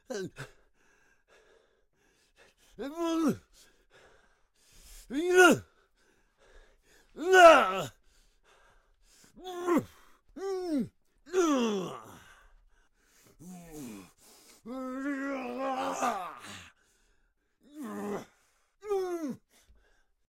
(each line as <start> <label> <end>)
5.1 pain 5.7
5.7 angry breath 7.2
7.2 pain 8.0
9.4 pain 12.3
12.0 angry breath 14.8
13.4 pain 16.7
16.4 angry breath 17.6
17.7 pain 19.4